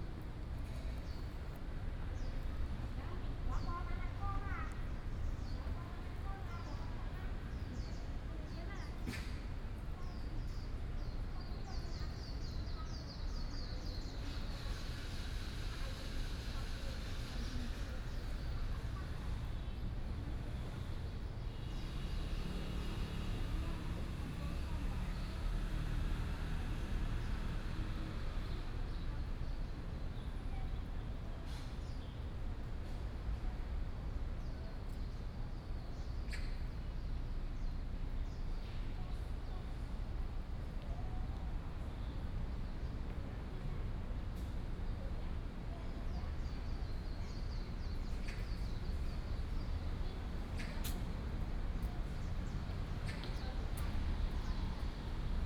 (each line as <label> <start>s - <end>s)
Traffic Sound 14.5s - 29.4s
Traffic Sound 47.6s - 55.4s